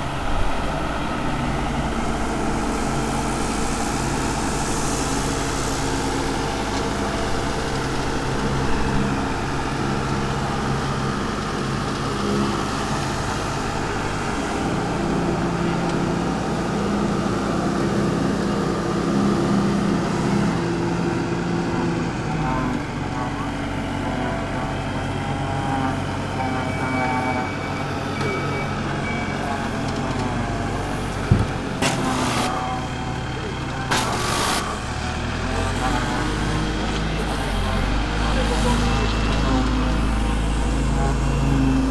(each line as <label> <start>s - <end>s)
pressure washers 31.0s - 35.8s